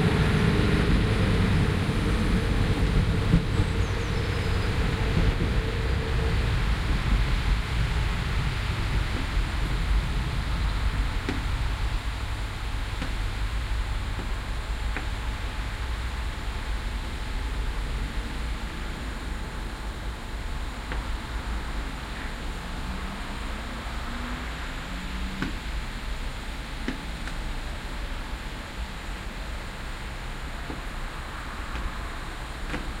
train leaving 0.0 - 33.0

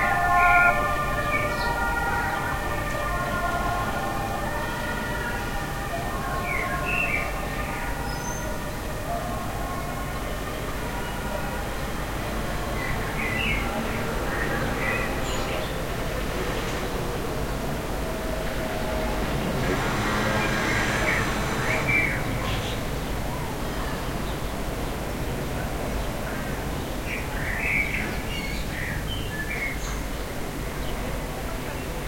Two police cars 0.0 - 32.0
ambulance 0.0 - 32.0
street noise 0.0 - 32.0
sparrows 0.0 - 2.5
sparrows 12.8 - 15.8

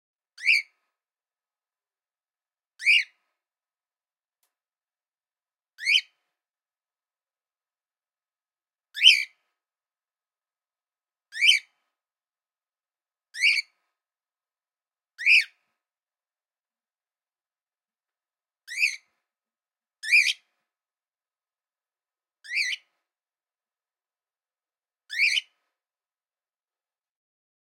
birdsong 9.0 - 9.3
birdsong 13.4 - 13.7
birdsong 18.7 - 19.1
birdsong 20.0 - 20.4
birdsong 25.1 - 25.5

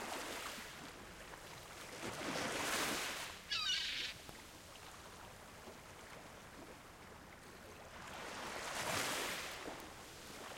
Sea 0.0 - 10.5
seagulls 3.5 - 4.2

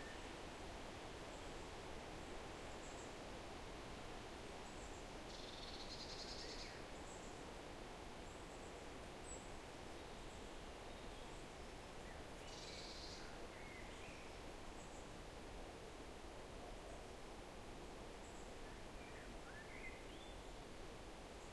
wind 0.0 - 21.5

